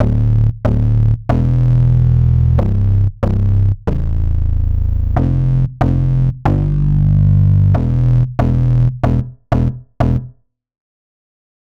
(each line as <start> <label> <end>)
0.0 bass 10.4